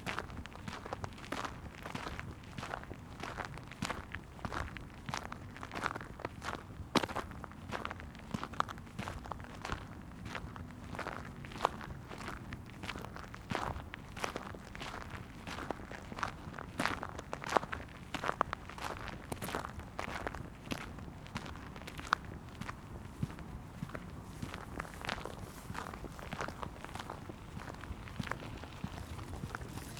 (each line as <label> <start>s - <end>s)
Steps on gravel 18.1s - 29.9s